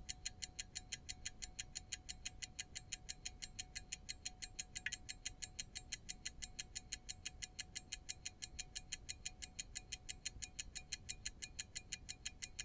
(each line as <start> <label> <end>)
0.0 ticking pocket watch 12.6